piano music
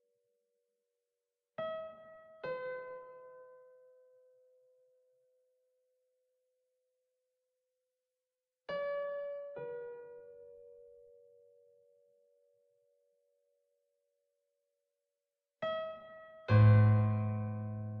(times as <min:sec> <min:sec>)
0:16.0 0:18.0